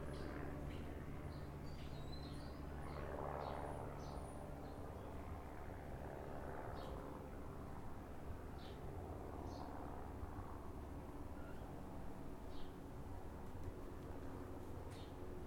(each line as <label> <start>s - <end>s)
Planes 0.0s - 15.4s
birds 14.8s - 15.3s